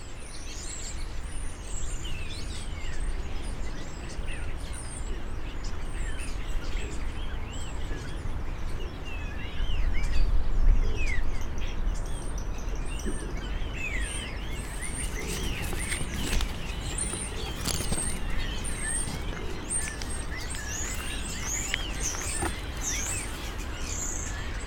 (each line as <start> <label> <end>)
0.0 Birds 24.6